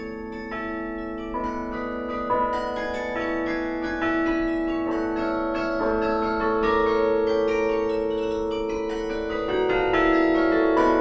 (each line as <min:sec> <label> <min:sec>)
0:00.0 carillon 0:11.0